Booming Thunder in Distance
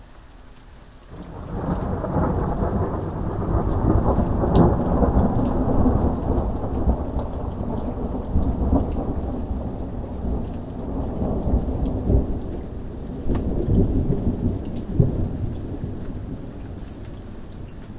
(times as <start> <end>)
1.2 12.5